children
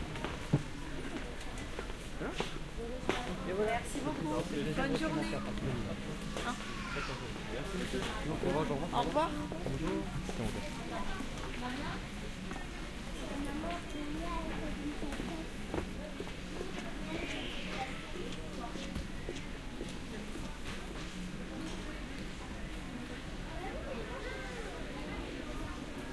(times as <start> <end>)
6.3 7.4